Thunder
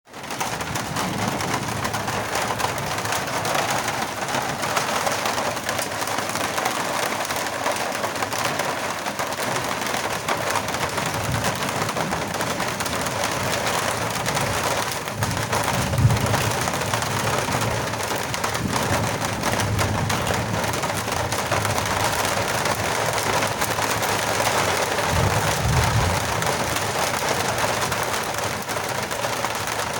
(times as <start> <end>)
14.3 22.3, 24.6 27.2